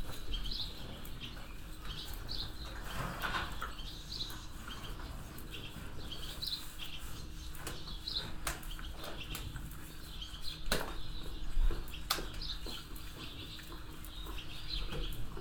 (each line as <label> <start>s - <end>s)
animals moving in their boxes 0.0s - 15.4s
swallows inside the shed 0.0s - 15.4s